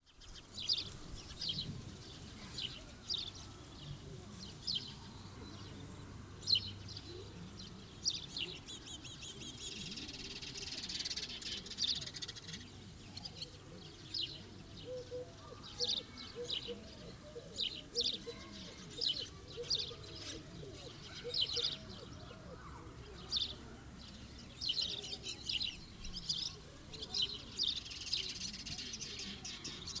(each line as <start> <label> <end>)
0.0 sparrows 30.0
0.9 voices 30.0
14.4 chicken 23.8